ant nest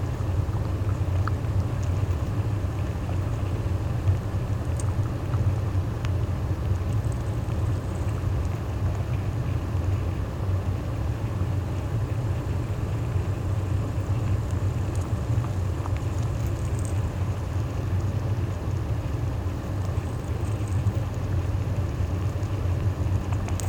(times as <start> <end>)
0.0 10.1, 19.5 23.6